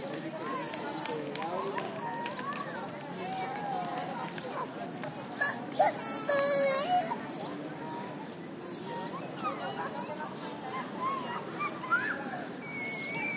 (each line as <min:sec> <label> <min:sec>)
0:00.0 comments from parents 0:13.3
0:00.0 voices of kids playing 0:13.3